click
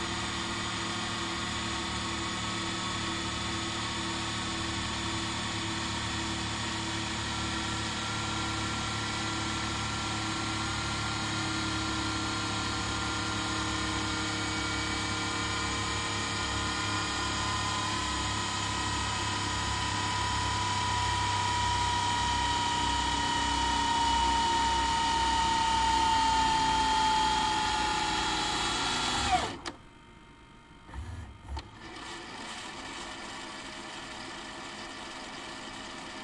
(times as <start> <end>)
29.5 29.8